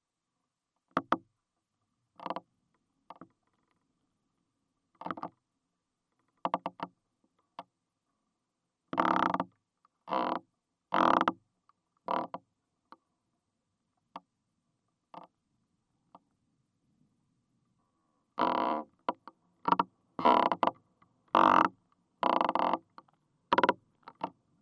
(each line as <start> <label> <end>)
2.2 Crackling is recorded inside the tree 4.0
4.9 Crackling is recorded inside the tree 5.4
6.1 Crackling is recorded inside the tree 7.7
9.0 Crackling is recorded inside the tree 13.0
15.1 Crackling is recorded inside the tree 15.3
18.4 Crackling is recorded inside the tree 24.4